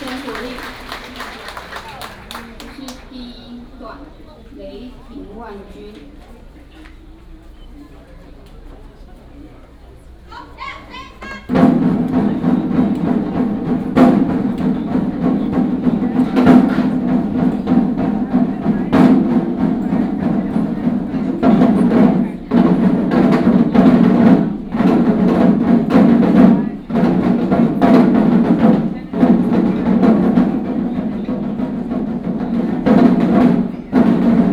Walking in the temple 0.0 - 34.5

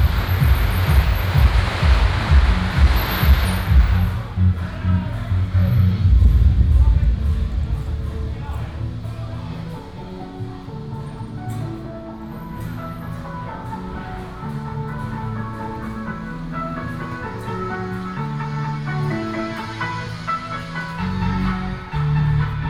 Firecrackers sound 0.0 - 4.6
walking in the Street 0.0 - 22.6

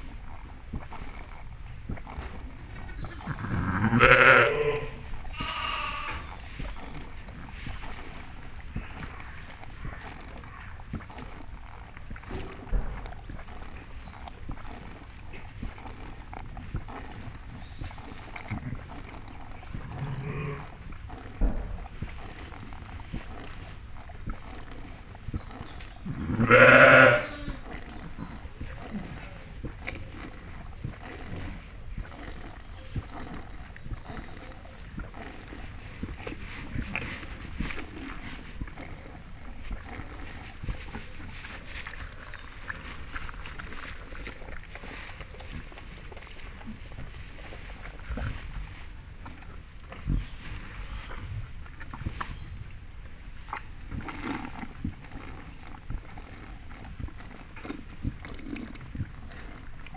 New Born Lambs 0.8 - 7.6
New Born Lambs 8.7 - 40.4

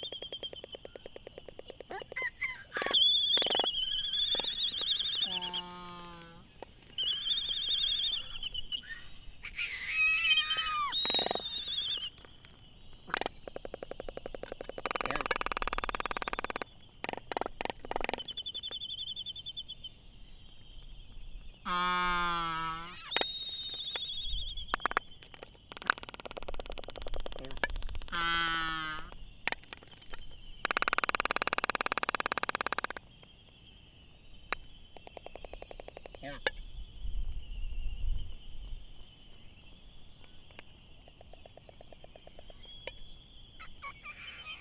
Laysan albatross dancing 0.0 - 18.7

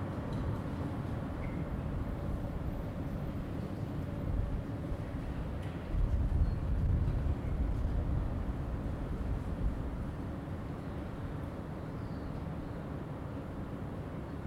Windy tunnel 0.0 - 14.4
two trains above 0.0 - 14.4

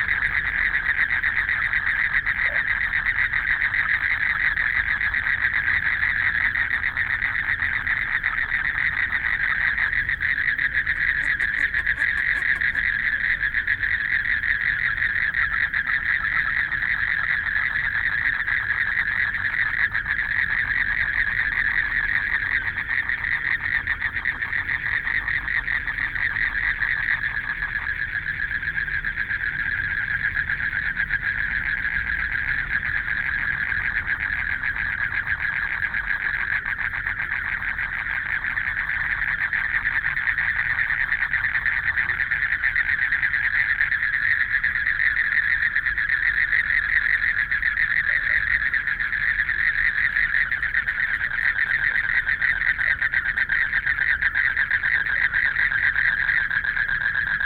Frogs sound 0.0 - 57.4
Traffic Sound 9.0 - 14.4

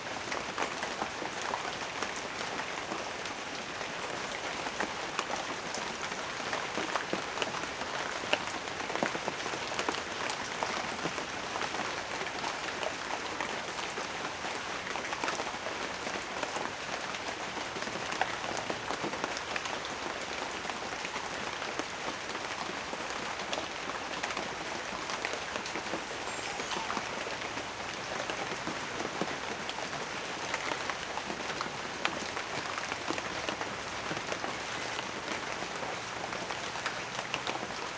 Light rain in a field of bananas trees 0.0 - 37.9

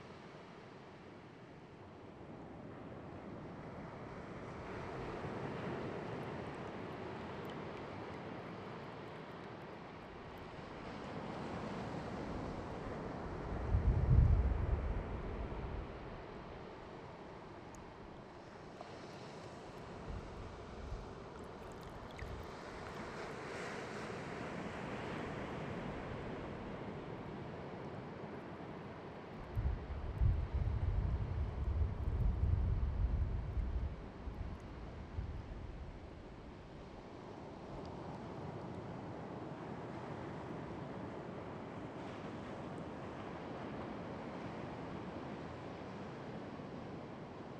waves of Pacific 0.0 - 47.5

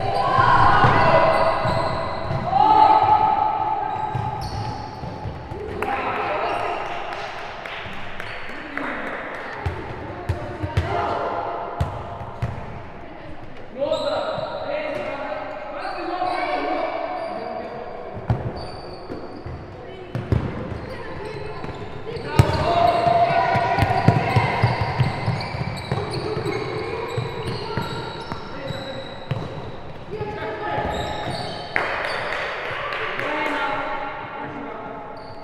shoe squeaking 0.0 - 3.1
Children playing football 0.0 - 7.0
shoe squeaking 3.8 - 5.6
shoe squeaking 13.8 - 32.4
Children playing football 18.3 - 33.9
shoe squeaking 35.1 - 35.4

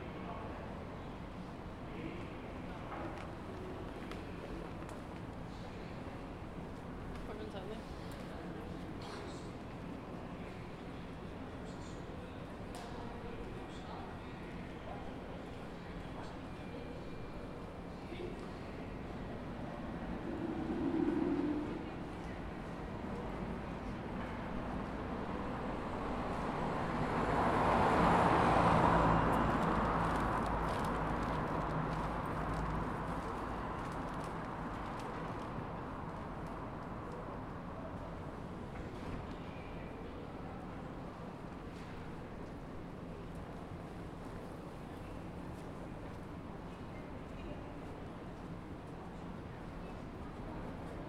traffic noise 15.5 - 51.0
footsteps/other sounds from pedestrians 17.4 - 51.0

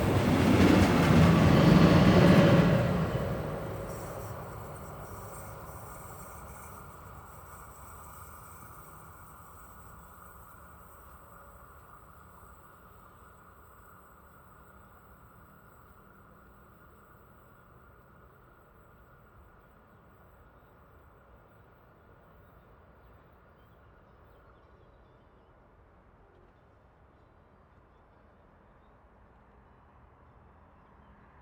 Heavy goods train 1meter away on the bridge 0.0 - 13.0

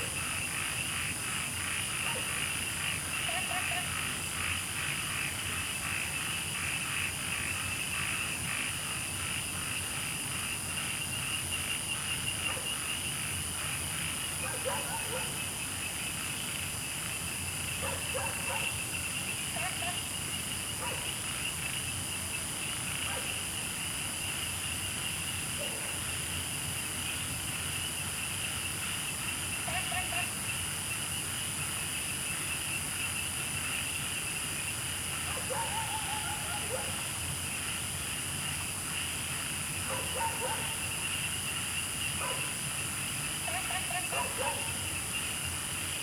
Insects sounds 0.0 - 46.0
Dogs barking 14.4 - 15.4
Dogs barking 17.8 - 18.7
Dogs barking 20.8 - 21.1
Frogs chirping 26.4 - 46.0
Dogs barking 35.3 - 37.1
Dogs barking 39.9 - 40.8
Dogs barking 42.2 - 42.5
Dogs barking 44.1 - 44.8

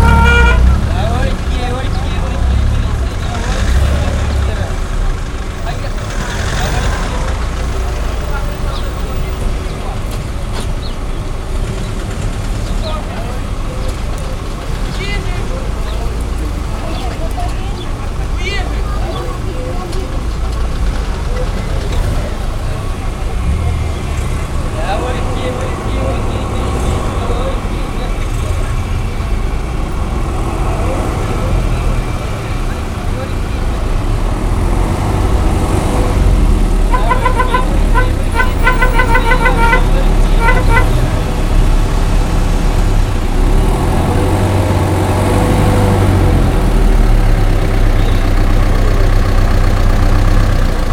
Morning bustle at the regional bus station 0.0 - 50.9

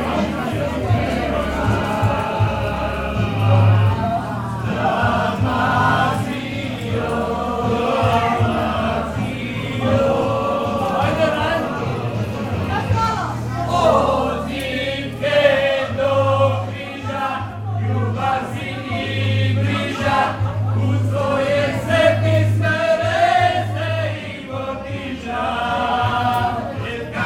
people singing and celebrating 0.0 - 27.2

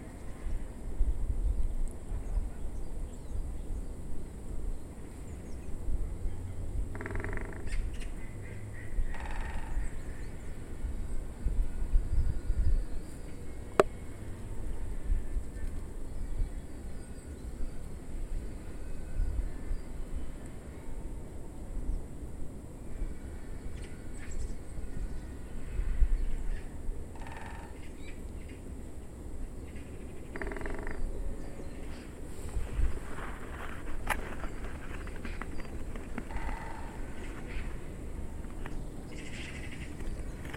woodpecker 6.9 - 8.2
woodpecker 9.1 - 9.8
woodpecker 27.2 - 27.9
woodpecker 29.7 - 31.0
woodpecker 34.1 - 37.7

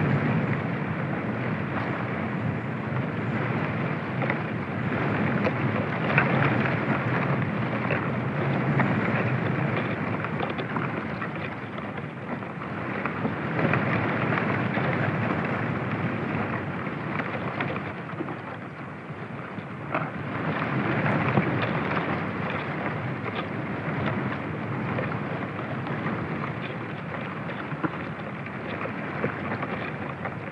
trunk of an Olive tree on a windy day 0.0 - 30.5

